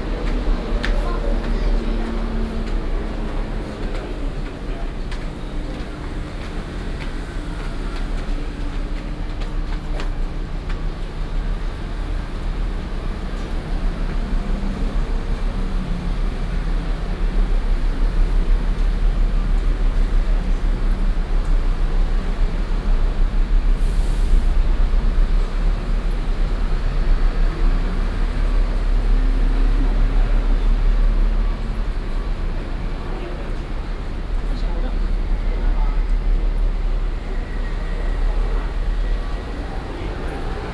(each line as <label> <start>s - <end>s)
Traffic Sound 0.0s - 40.7s